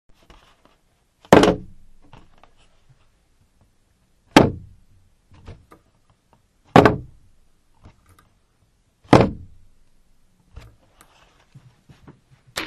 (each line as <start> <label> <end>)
6.8 Cardboard jigsaw puzzle box lid being dropped on a table 7.1